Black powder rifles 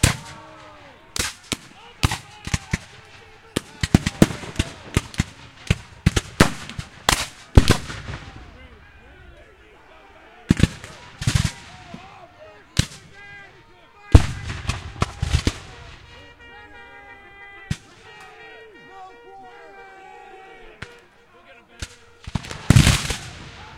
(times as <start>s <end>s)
0.0s 9.4s, 10.5s 12.2s, 12.8s 17.1s, 17.7s 18.4s, 21.8s 23.7s